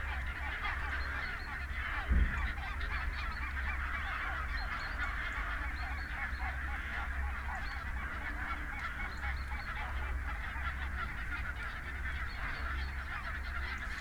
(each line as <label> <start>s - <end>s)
pheasant 0.0s - 14.0s
crow 0.0s - 14.0s
pink-footed geese 0.0s - 14.0s